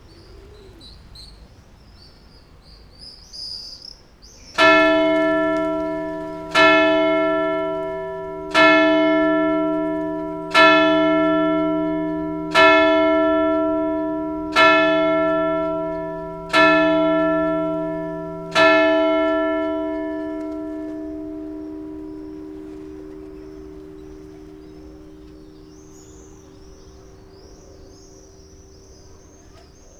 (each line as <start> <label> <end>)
4.4 church bells 29.9